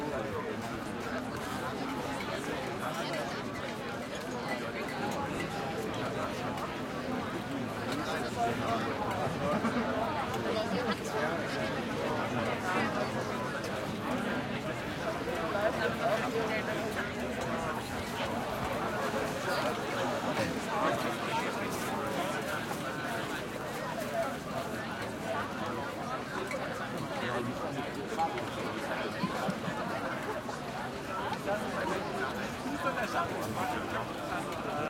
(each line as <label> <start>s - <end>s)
active walla german and english voices 0.0s - 34.8s